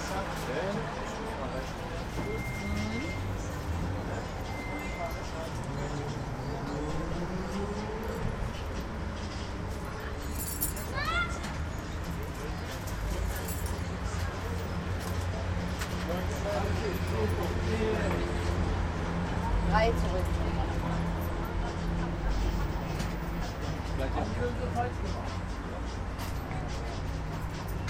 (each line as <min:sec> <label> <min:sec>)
0:00.0 people talking 0:07.8